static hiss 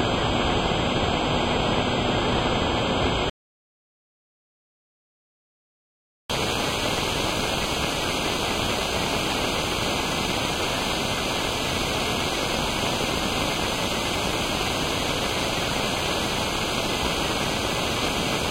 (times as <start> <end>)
6.3 18.5